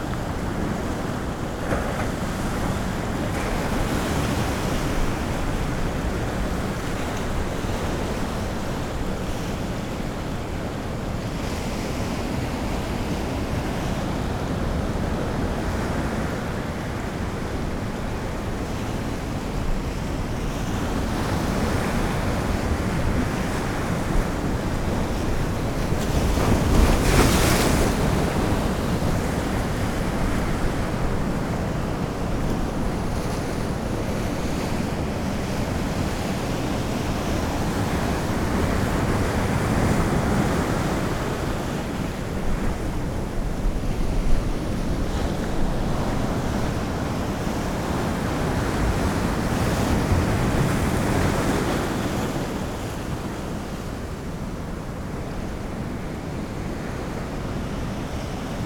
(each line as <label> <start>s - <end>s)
high tide 0.0s - 58.6s